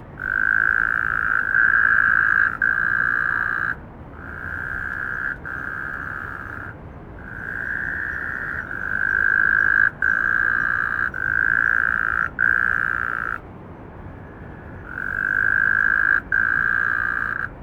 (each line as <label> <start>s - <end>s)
Frogs calling 0.0s - 17.6s